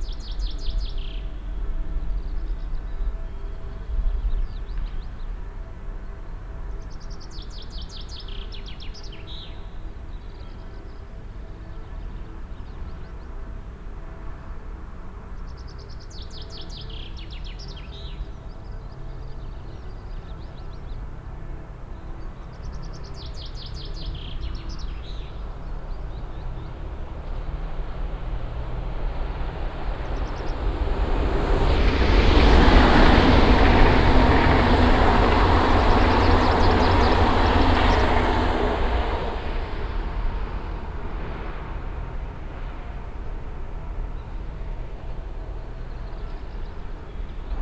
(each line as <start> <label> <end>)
0.0 church bells of the town in the distance 27.3
0.0 trains passing by 47.6
32.5 announcements of the near station in the distance 40.3